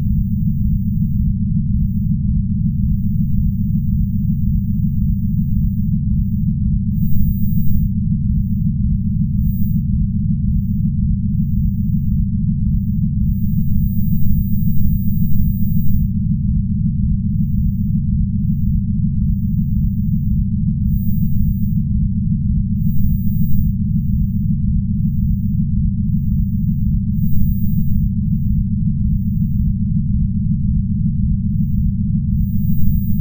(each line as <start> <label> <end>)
0.0 hum 33.2